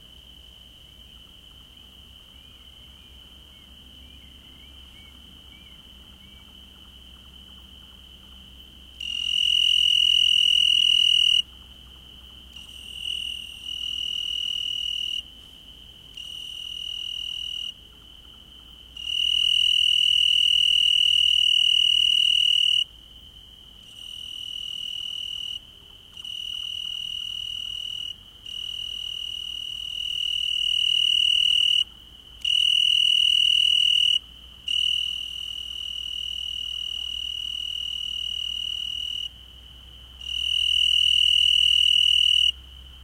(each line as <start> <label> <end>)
0.0 single, very close cricket 43.0
2.3 distant Nightjar 6.8